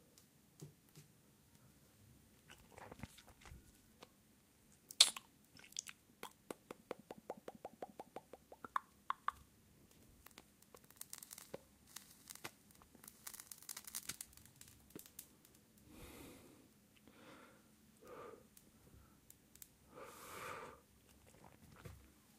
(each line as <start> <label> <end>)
4.9 smoking 6.9
10.2 smoking 17.4
18.0 smoking 21.9